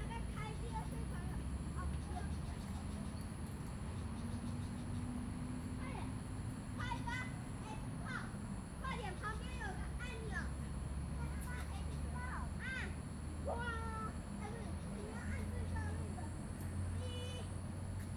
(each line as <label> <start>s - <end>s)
Children 6.8s - 17.6s